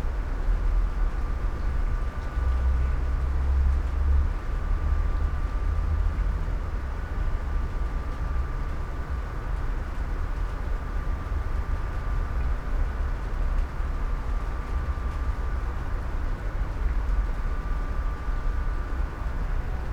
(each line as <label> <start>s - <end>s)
rain 0.0s - 19.9s